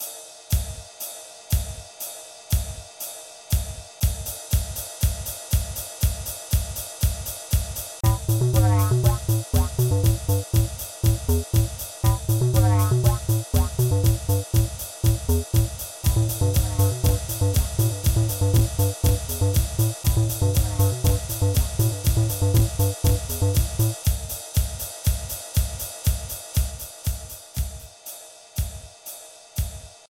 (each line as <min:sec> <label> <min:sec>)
0:07.6 beats 0:24.7